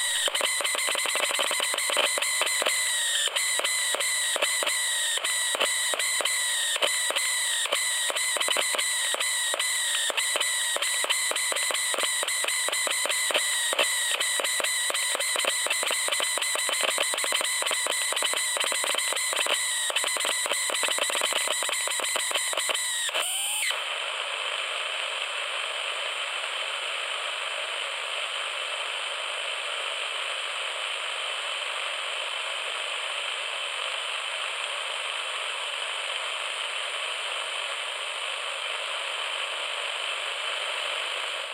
static 0.0 - 41.5

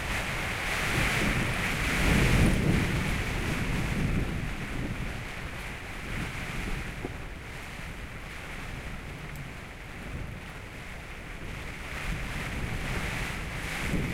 Rain squalls coming in 0.0 - 14.1
gale blowing outside 0.0 - 14.1

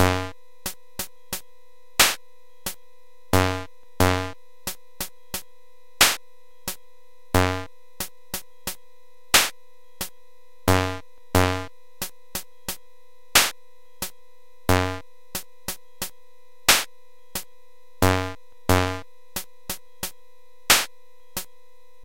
really, really, really cool distortion 0.0 - 0.4
drums 0.0 - 2.2
really, really, really cool distortion 3.4 - 4.4
drums 3.4 - 6.8
really, really, really cool distortion 7.4 - 7.7
drums 7.4 - 8.8
drums 9.4 - 10.1
drums 10.7 - 11.7
really, really, really cool distortion 10.7 - 11.7
drums 13.4 - 14.1
really, really, really cool distortion 14.7 - 15.0
drums 14.7 - 21.5
really, really, really cool distortion 18.0 - 19.0

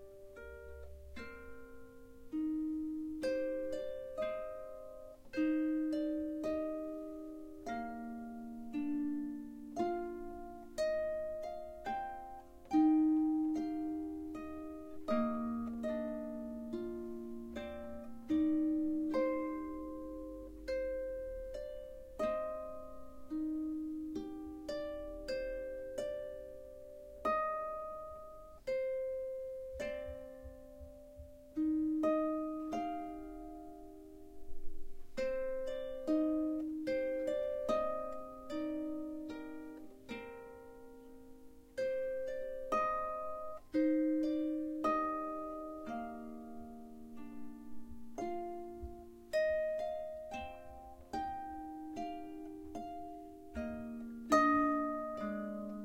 Harp 0.0 - 55.8

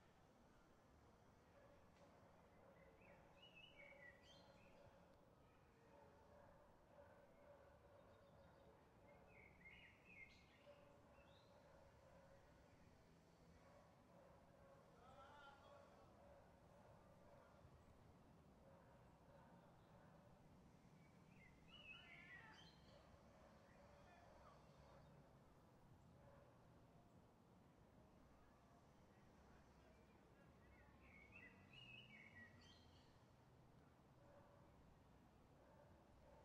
dogs 5.8 - 9.3
trees 7.8 - 36.4
dogs 13.5 - 15.0
dogs 15.8 - 17.8
dogs 18.6 - 20.4
dogs 26.2 - 26.8
dogs 34.2 - 34.9
dogs 35.5 - 36.4

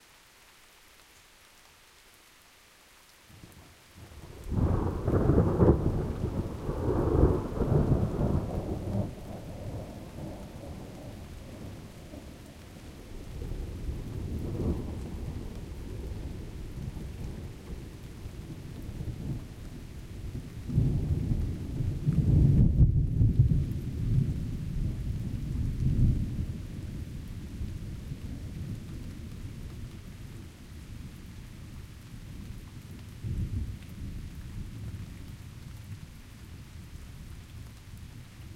rain 0.0 - 38.5
thunderclap 4.5 - 11.9
thunderclap 20.4 - 24.4

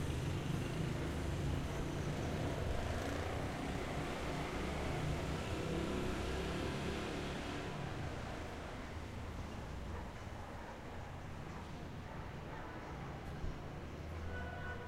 motorbikes 0.0 - 10.4
Dogs 9.5 - 13.9

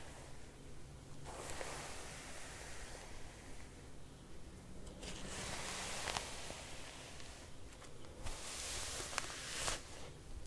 brushing long hair 1.2 - 3.9
brushing long hair 5.0 - 10.2

